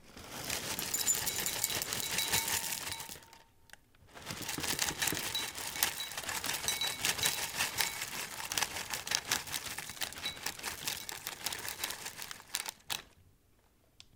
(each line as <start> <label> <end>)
0.0 Cereal being poured into a bowl 3.4
4.2 Cereal being poured into a bowl 13.0